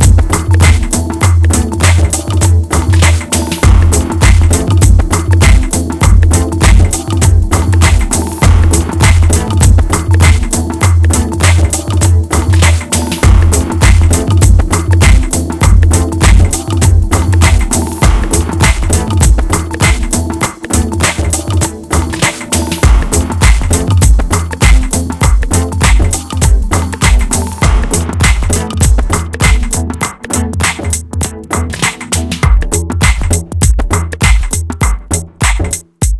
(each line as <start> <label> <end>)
0.0 bass 36.1
0.0 drum 36.1